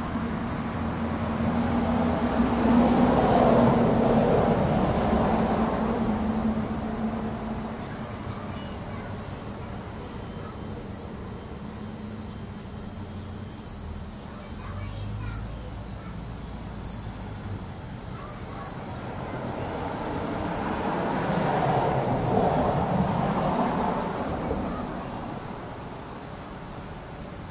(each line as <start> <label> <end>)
0.0 Bugs 27.5
0.0 anual cicadas 27.5
0.0 cars go by 27.5
0.0 crickets 27.5
0.0 wind 27.5
3.6 Neighbor kids from the nextdoor apartment play 27.5
6.8 birds 20.0